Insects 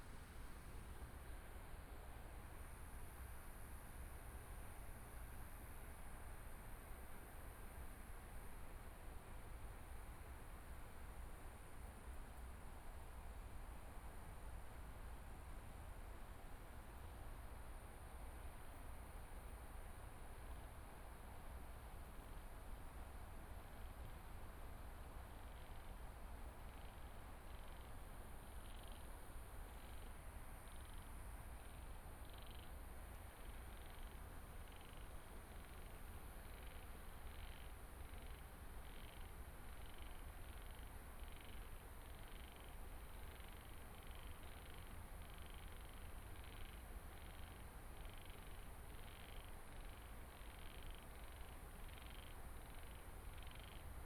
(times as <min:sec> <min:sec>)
0:17.3 0:54.0